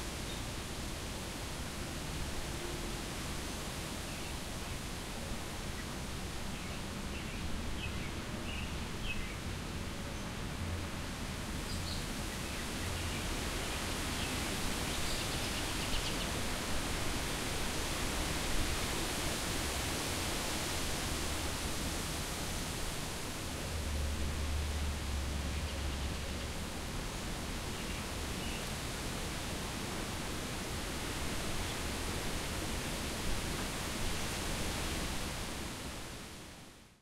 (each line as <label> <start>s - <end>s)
birds chirp and sing in the background 5.6s - 10.4s
birds chirp and sing in the background 11.6s - 16.4s
birds chirp and sing in the background 27.7s - 28.8s